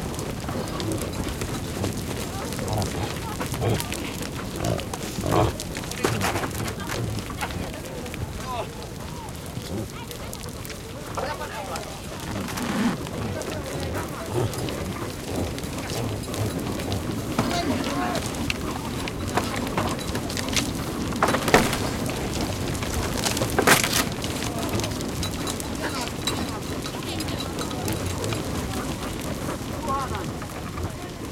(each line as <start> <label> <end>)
0.0 human voices 20.8
0.0 big herd of reindeer in a fencing 31.3
0.5 grunting 7.6
12.1 grunting 18.4
21.7 human voices 31.3